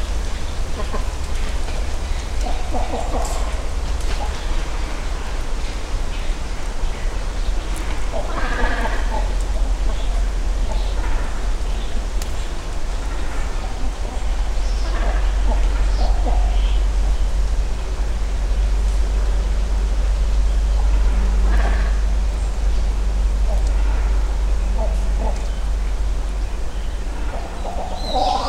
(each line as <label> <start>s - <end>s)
Great Cormorants Nesting 0.0s - 28.4s
great egrets nesting nearby 0.0s - 28.4s
other birds 0.0s - 28.4s